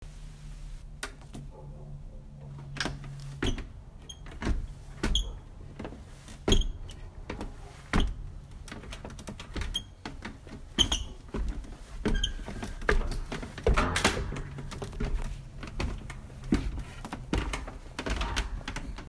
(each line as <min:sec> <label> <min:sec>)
0:02.5 Pulled my attic door down 0:19.0
0:03.3 Footsteps on Attic Stairs 0:19.0